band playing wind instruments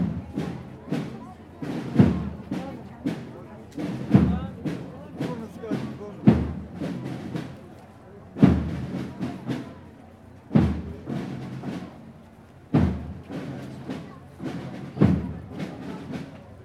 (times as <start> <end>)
0.0 7.7, 10.5 12.0, 12.7 16.3